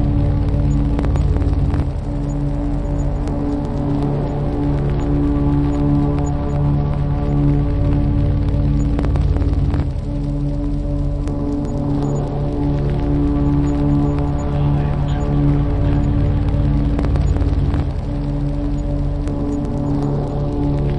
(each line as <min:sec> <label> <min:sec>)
0:00.0 synthesizer 0:20.9
0:00.0 vinyl 0:20.9
0:14.3 voice 0:16.6